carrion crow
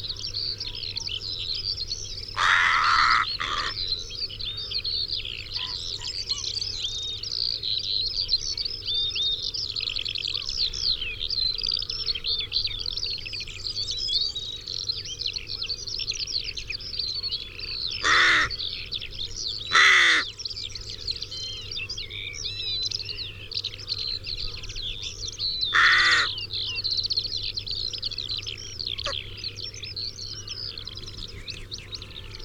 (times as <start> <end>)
2.4 3.8, 18.0 18.6, 19.7 20.3, 25.7 26.3